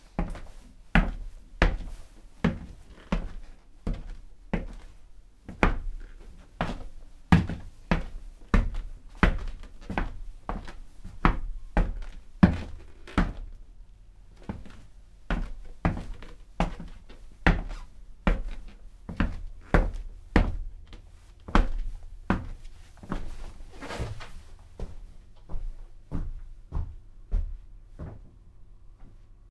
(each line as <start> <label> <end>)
14.4 footsteps 28.4